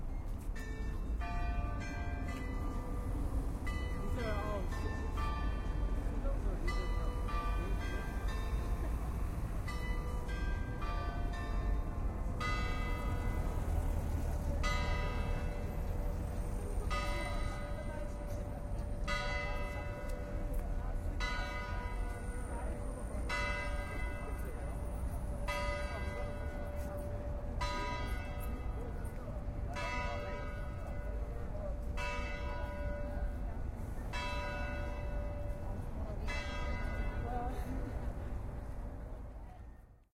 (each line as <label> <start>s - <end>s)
church bell ringing 0.0s - 13.8s
church bell ringing 14.6s - 38.8s